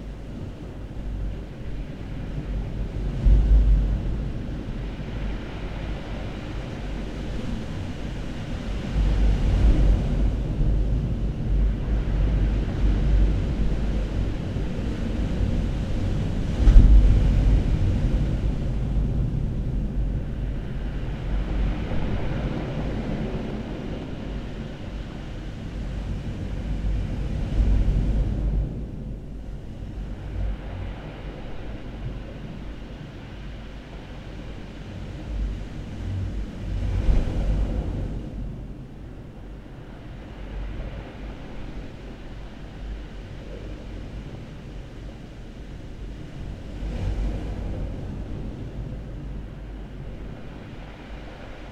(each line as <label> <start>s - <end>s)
turbulent ocean 0.0s - 51.7s